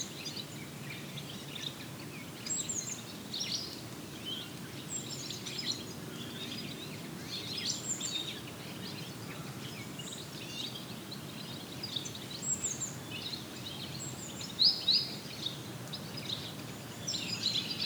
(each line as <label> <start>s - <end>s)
colony of Redwing, migratory birds 0.0s - 17.8s